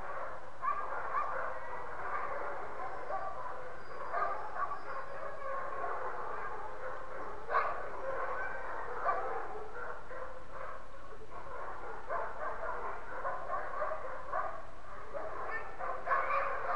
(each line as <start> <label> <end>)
0.0 Dogs bark, whine, and howl 16.7